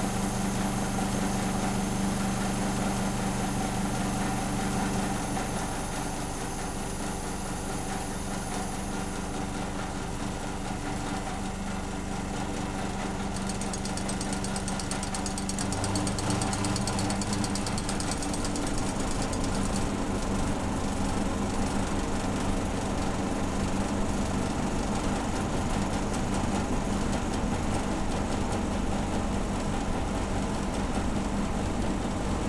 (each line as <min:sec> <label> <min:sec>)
0:00.0 Airco fan mechanical noises 0:32.4